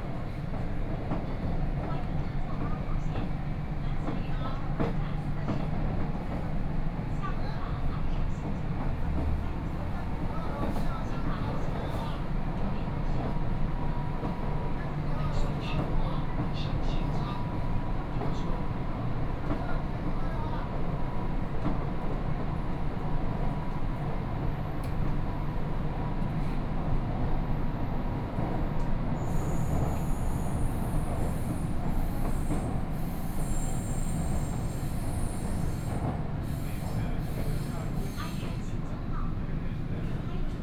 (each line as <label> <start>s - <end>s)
Line 8 (Shanghai Metro) 0.0s - 40.6s